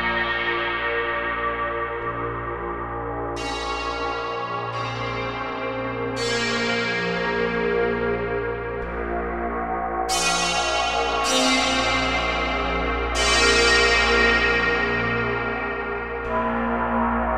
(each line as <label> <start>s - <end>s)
Modal Synthscape 0.0s - 17.3s